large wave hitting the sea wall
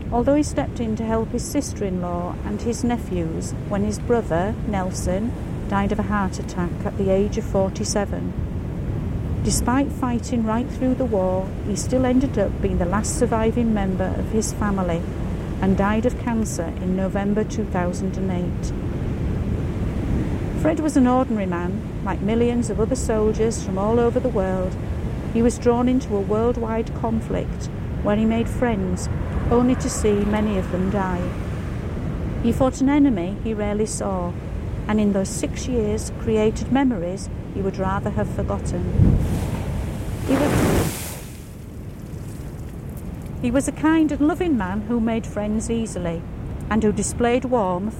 39.0 43.4

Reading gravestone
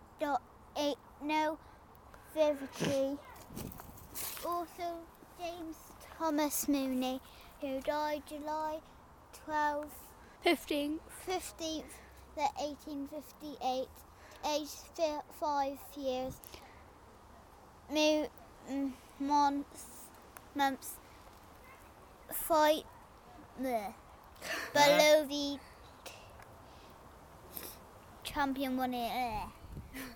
2.2 8.8

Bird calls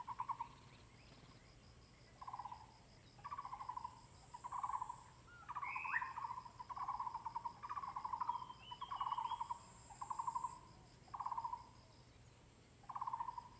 4.5 10.6

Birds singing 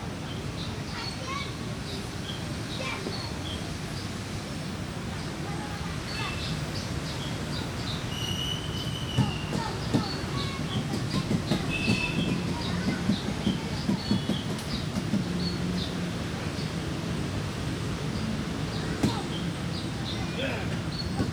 5.1 21.3

